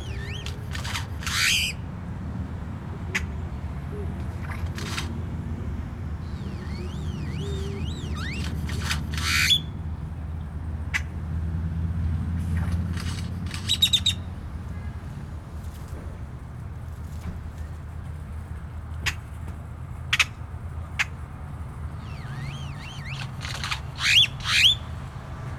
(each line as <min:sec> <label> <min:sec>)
0:00.0 Solitary male Grackle calls 0:09.8
0:00.0 Traffic sounds 0:25.5
0:12.5 Solitary male Grackle calls 0:14.8
0:22.0 Solitary male Grackle calls 0:25.5